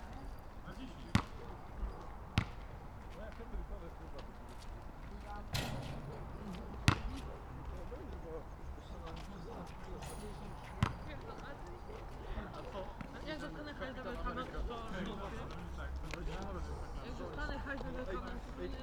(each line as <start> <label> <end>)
0.0 teenagers playing horse at the nearby basketball court 18.8
1.0 basketball bouncing off the tarmac 1.5
2.4 basketball bouncing off the tarmac 3.4
5.5 basketball bouncing off the tarmac 8.1
10.8 basketball bouncing off the tarmac 11.4